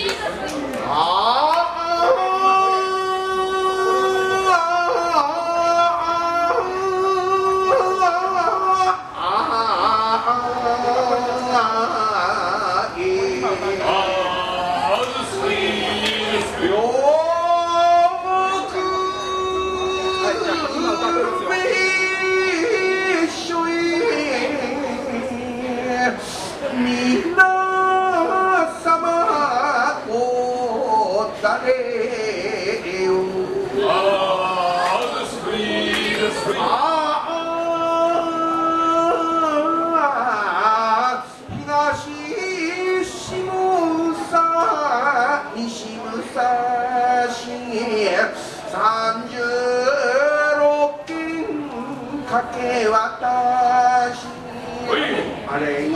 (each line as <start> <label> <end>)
0.0 crowds exit 55.9